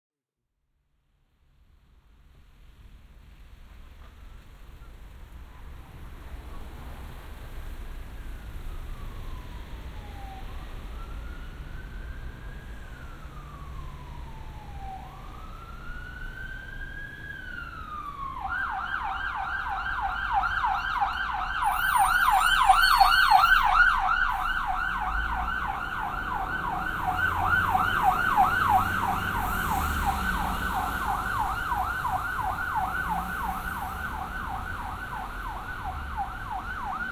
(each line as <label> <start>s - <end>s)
Traffic 1.0s - 37.1s
Sirens 4.0s - 37.1s